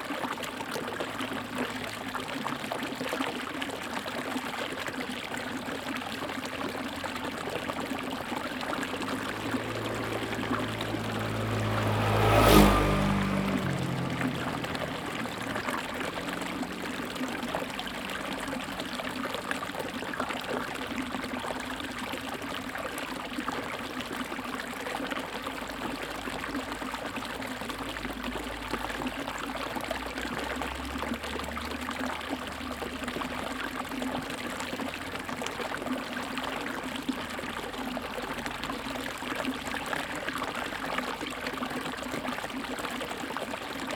0.0s Aqueduct, Flow sound 43.9s

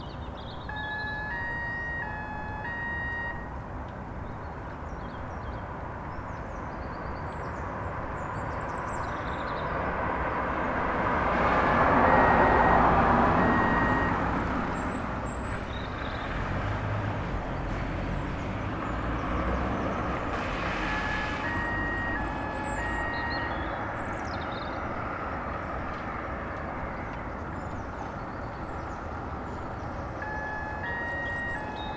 0.7s Alarm Still Bleeping 3.5s
11.8s Alarm Still Bleeping 14.4s
20.7s Alarm Still Bleeping 23.8s
30.2s Alarm Still Bleeping 31.9s

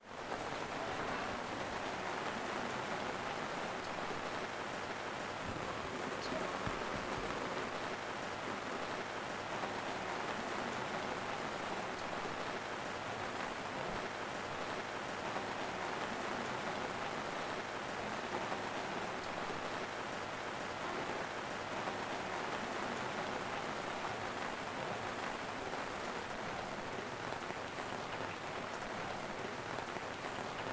0.0s rain fall 30.7s

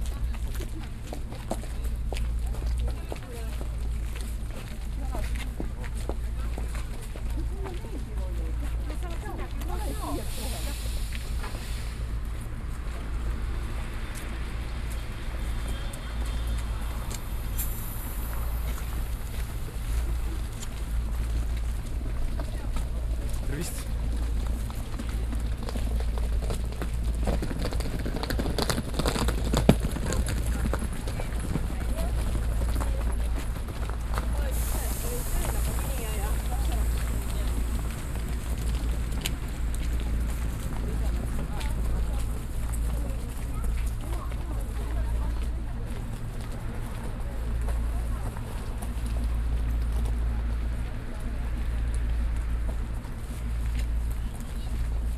5.6s Train arrives at station 55.1s

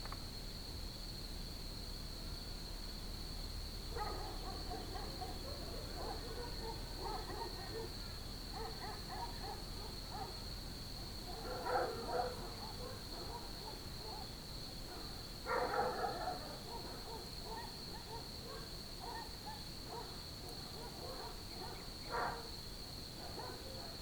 4.0s Dog barking 7.9s
8.5s Dog barking 10.4s
11.3s Dog barking 14.2s
14.9s Dog barking 22.5s
23.2s Dog barking 24.0s

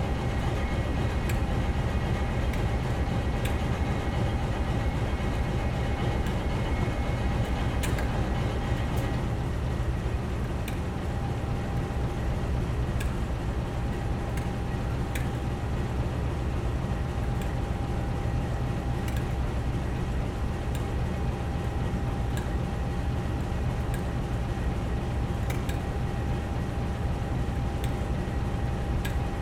0.0s Diesel train engine 29.4s

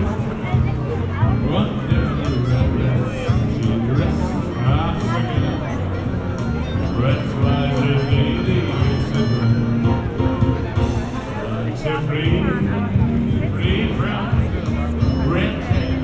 0.0s jazz band 11.7s

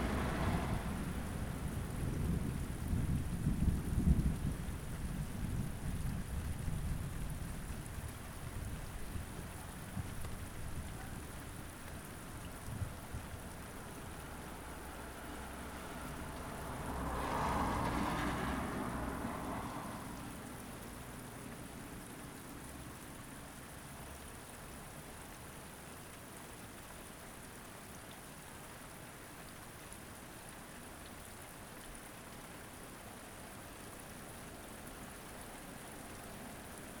0.0s passing traffic 3.3s
0.0s passing thunderstorm 7.6s
12.9s passing traffic 24.1s
14.8s passing thunderstorm 20.3s

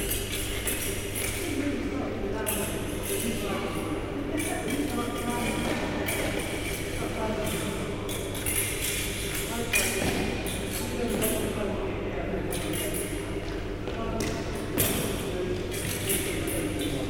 0.0s metallic fencing sounds 13.6s
14.2s metallic fencing sounds 17.0s

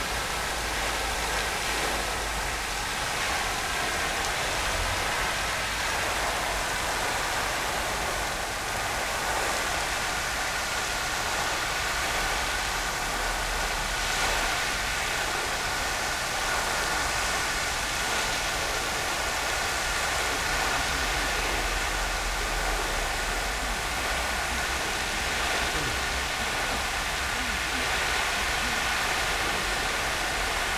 20.2s voices 30.7s

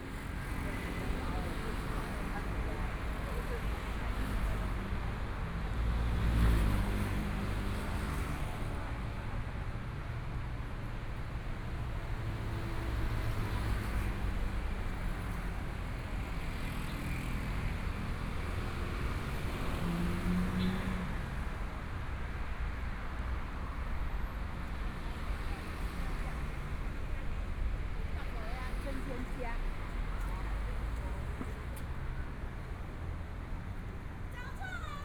11.5s Traffic Sound 35.0s
24.5s walking on the Road 35.0s

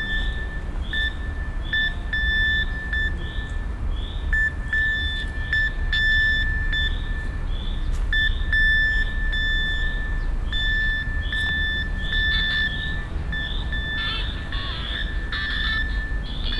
8.2s morse code 16.5s

